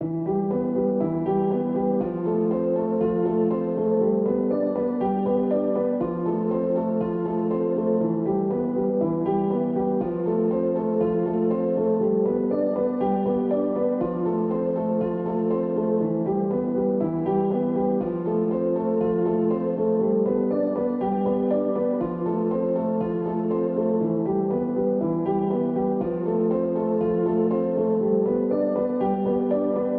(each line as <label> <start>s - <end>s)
piano 0.0s - 29.9s